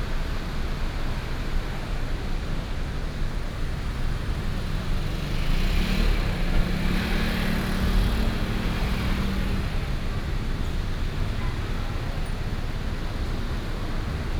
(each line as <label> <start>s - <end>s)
traffic sound 3.7s - 14.3s